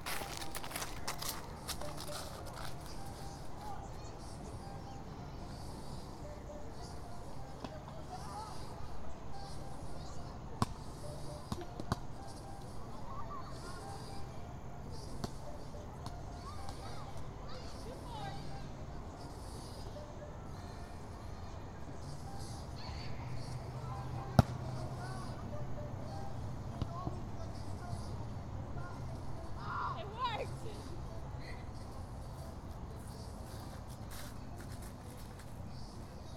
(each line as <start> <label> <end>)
0.0 older children kicking around a soccer ball 3.8
0.0 kids on the playground swing set 36.3
0.0 people were out walking 36.3
15.0 older children kicking around a soccer ball 17.6
33.0 older children kicking around a soccer ball 36.0